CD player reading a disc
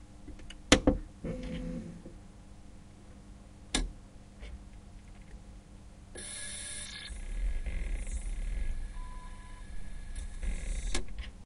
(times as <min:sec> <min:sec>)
0:06.2 0:11.3